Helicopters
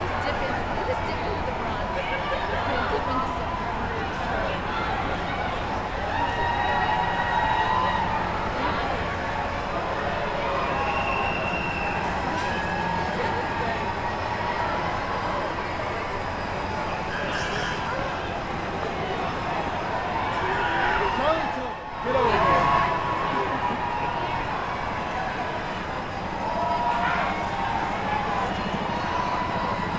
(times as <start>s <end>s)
22.4s 29.9s